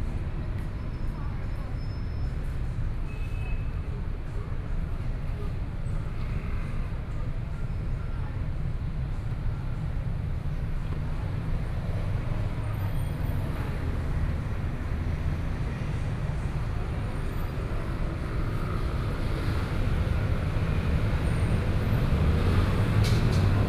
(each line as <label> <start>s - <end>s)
Traffic Sound 9.8s - 23.6s